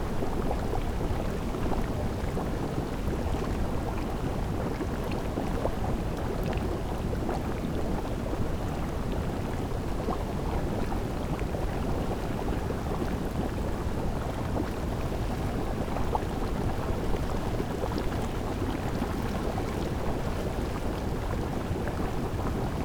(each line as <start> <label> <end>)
0.1 Fumarola-natural boilling water 22.8